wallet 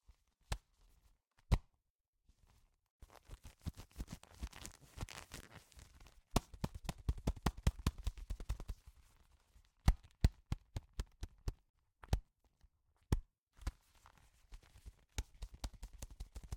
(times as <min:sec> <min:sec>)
0:03.0 0:08.9